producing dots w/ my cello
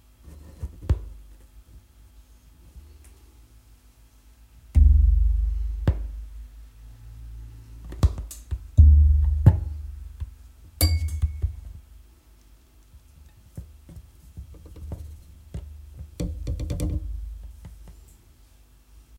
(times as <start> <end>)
4.8 6.5, 8.8 10.4